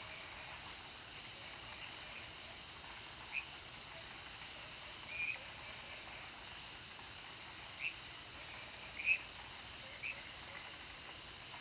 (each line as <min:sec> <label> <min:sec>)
0:00.1 insects 0:11.6